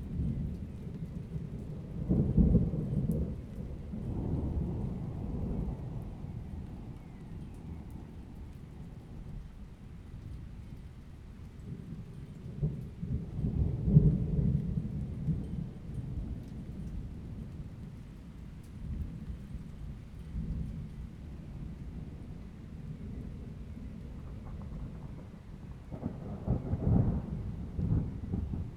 0.0s continuous thunder 28.7s

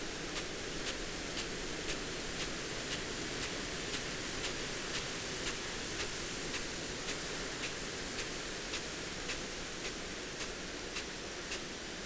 0.1s irrigation sprinkler on potato crop 12.0s

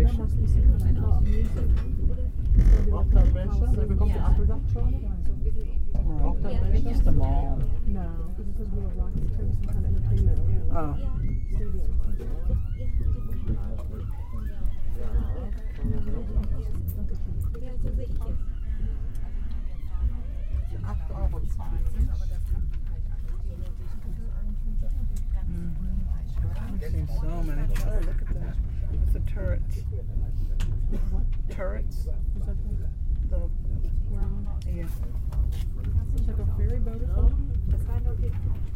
0.0s inside train leaving cologne 12.4s
20.8s inside train leaving cologne 38.7s

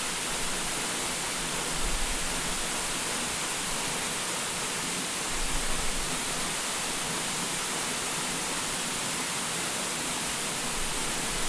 0.0s waterfall 11.4s

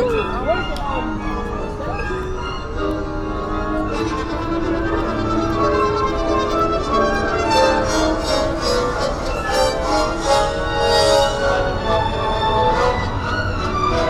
0.0s Orchestra concert 14.0s
0.0s pedestrians 14.0s
0.0s street traffic 14.0s

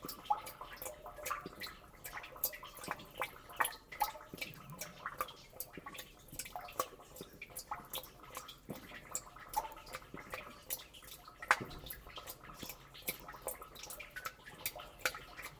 0.0s rhytmic water dripping in rain drenage well 15.5s

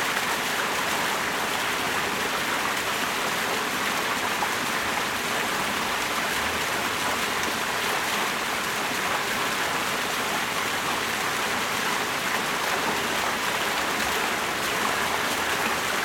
0.0s Small waterfall 16.0s

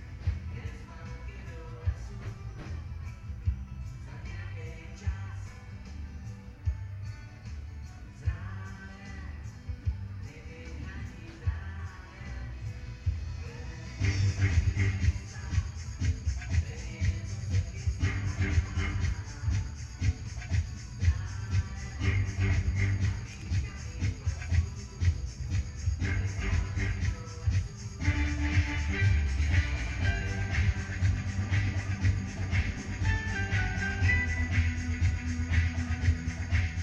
0.0s fair attractions 36.8s

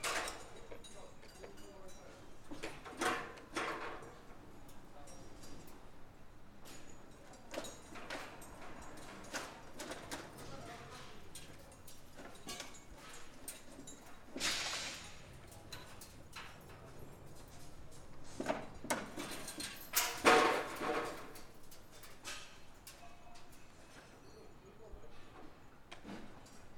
0.0s builders completing the frame of a modern wooden house 26.7s

